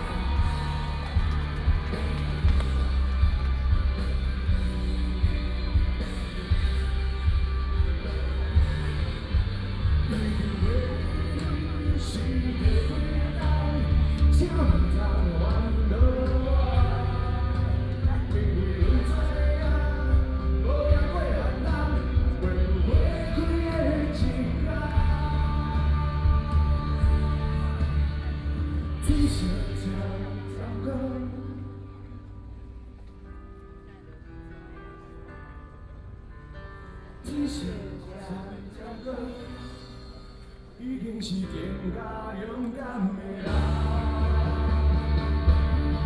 People cheering 0:00.0 - 0:19.3
Rock band 0:00.0 - 0:46.0

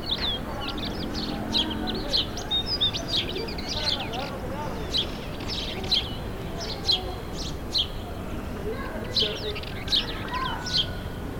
Birds 0:00.0 - 0:11.3

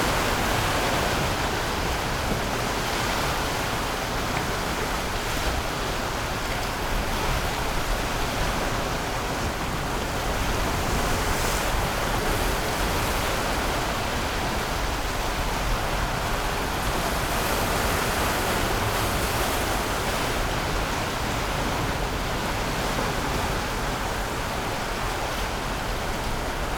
waves 0:00.0 - 0:26.7

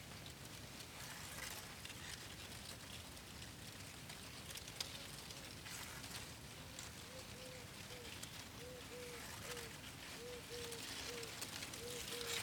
Wind in the cornfield 0:00.0 - 0:12.4

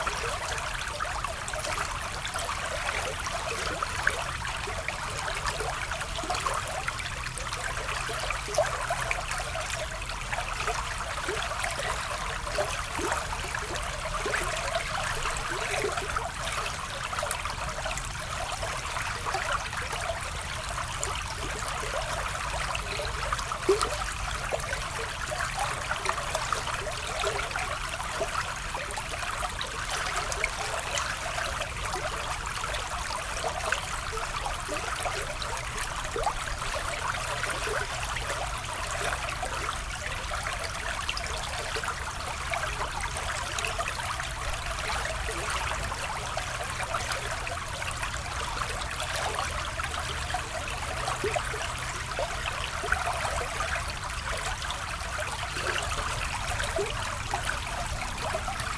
river, flowing 0:00.0 - 0:58.7

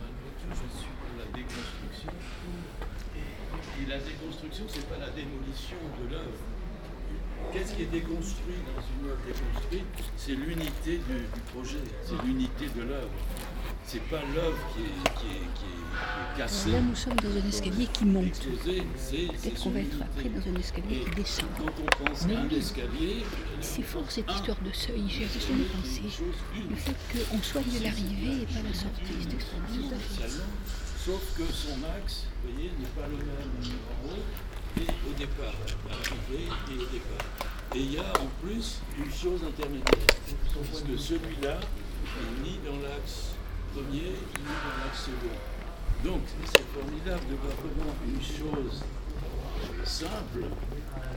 students staying and walking in dialogue 0:00.4 - 0:39.6

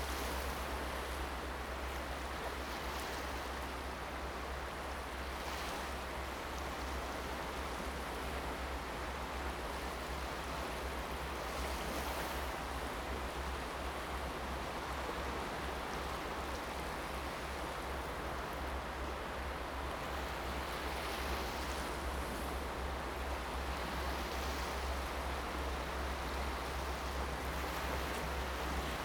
waves 0:00.0 - 0:29.0

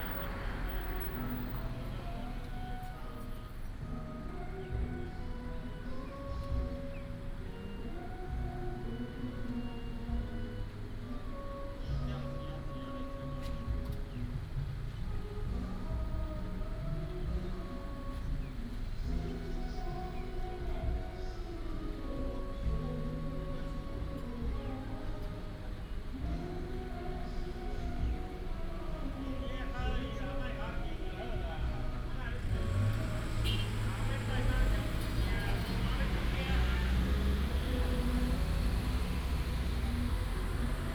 Karaoke 0:00.0 - 0:40.9
Traffic sound 0:00.0 - 0:40.9

